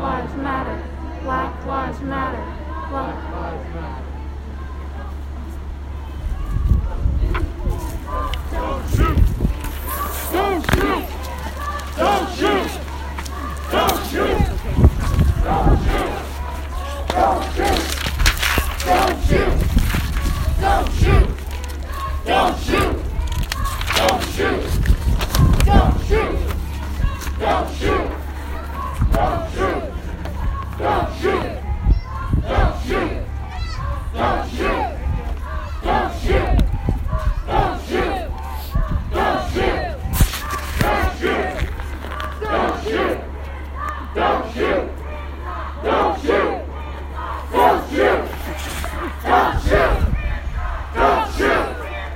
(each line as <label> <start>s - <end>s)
close up and distant chanting in the crowd 0.0s - 52.1s